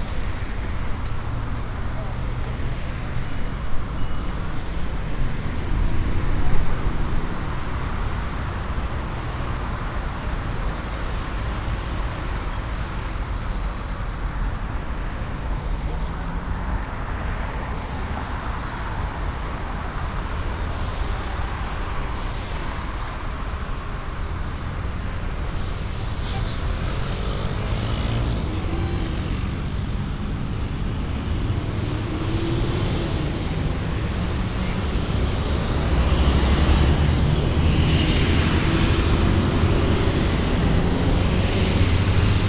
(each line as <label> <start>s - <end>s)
city traffic 0.0s - 42.4s